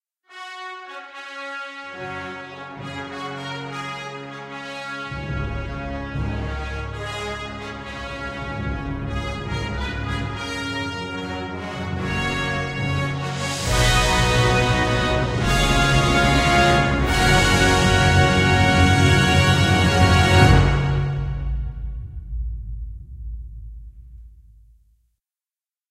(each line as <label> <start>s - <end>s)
Orchestral fanfare 0.3s - 22.0s